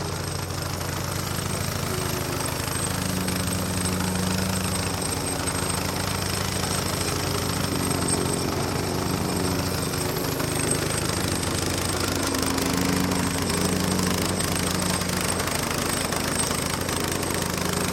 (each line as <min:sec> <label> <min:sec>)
0:00.0 Operating a Plate Compactor 0:17.9